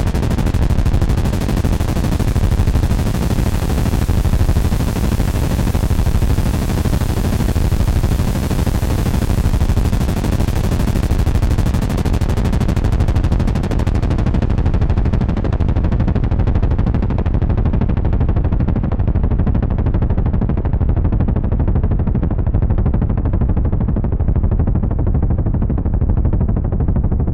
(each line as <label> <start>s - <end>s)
Helicopter drone sound 0.0s - 15.8s